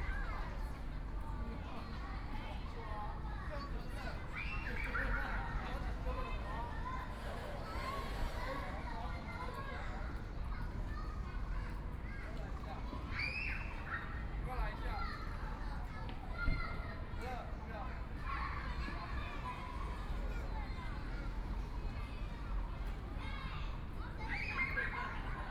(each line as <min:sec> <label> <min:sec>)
0:00.0 Kids and parents 0:25.5